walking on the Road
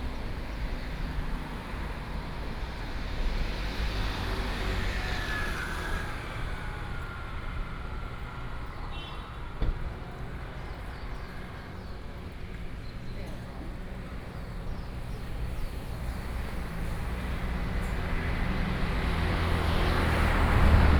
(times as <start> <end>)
6.4 20.9